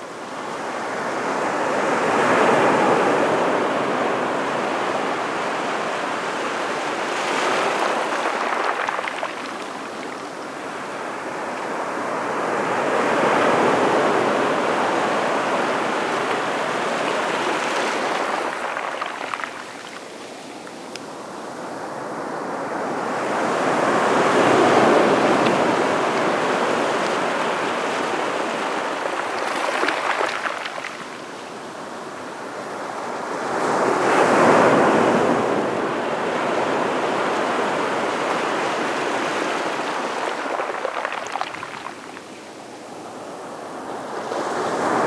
0.0s sea 45.0s

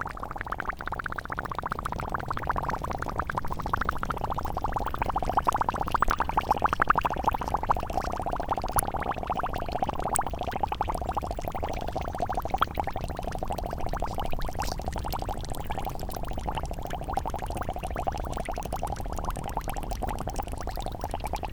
0.0s ground makes bubbles 21.5s

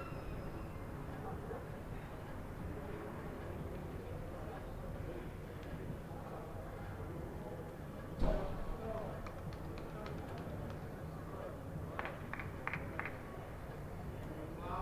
8.9s Applause 11.0s
12.0s Applause 13.3s

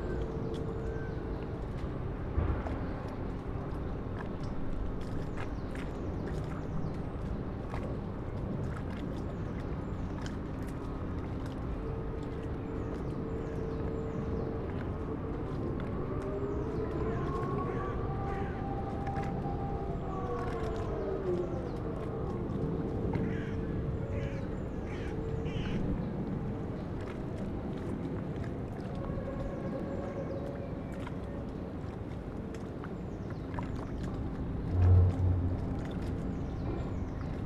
0.0s water 37.4s

